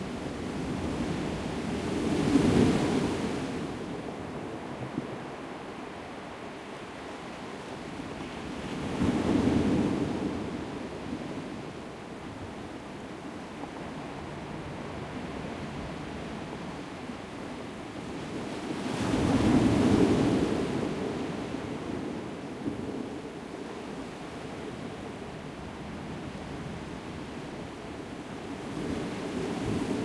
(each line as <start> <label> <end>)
0.0 waves 30.0